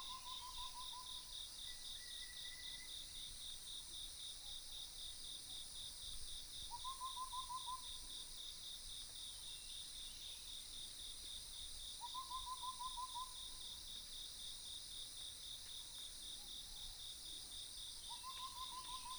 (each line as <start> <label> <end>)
18.1 Croak sounds 19.1